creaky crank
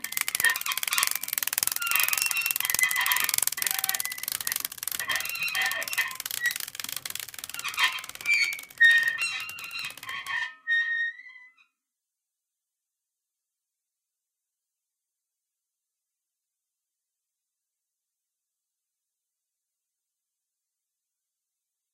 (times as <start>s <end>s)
0.0s 11.3s